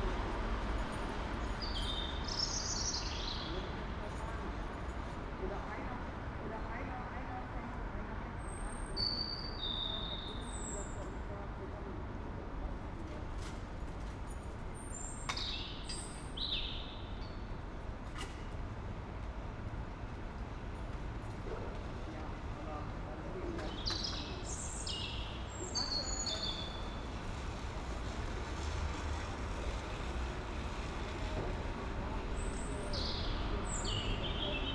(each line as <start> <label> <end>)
0.0 a train passes-by 34.7
23.4 a bird in the tree 34.7